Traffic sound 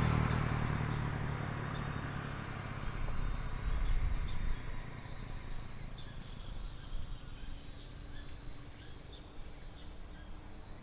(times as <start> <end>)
0.0 7.2